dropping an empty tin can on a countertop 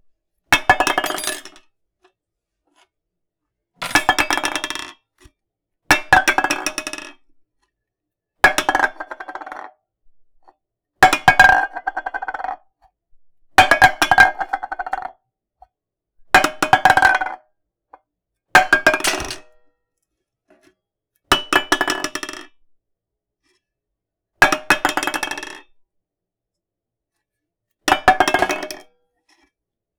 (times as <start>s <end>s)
0.6s 1.6s, 3.8s 4.9s